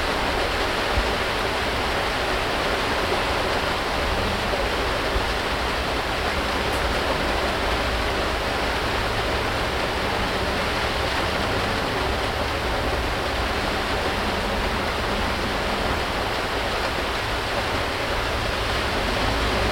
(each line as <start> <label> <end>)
0.0 Rain on the archive store 19.7